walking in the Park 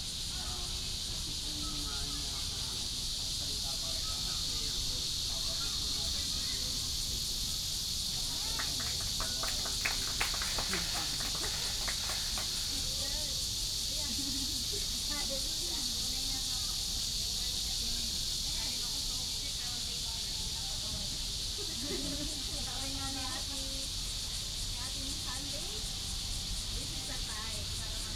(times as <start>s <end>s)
4.8s 17.6s